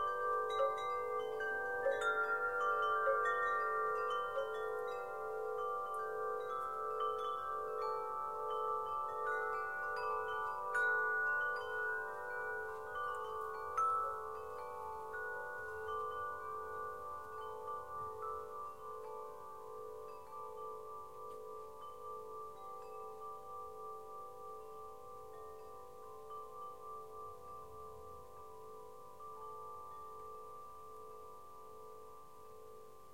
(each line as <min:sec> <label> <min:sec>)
0:00.0 wind chimes 0:33.1